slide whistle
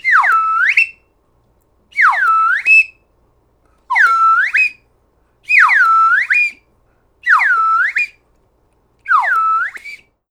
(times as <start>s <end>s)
0.0s 1.1s, 1.9s 3.0s, 3.9s 4.8s, 5.4s 6.6s, 7.2s 8.2s, 9.1s 10.2s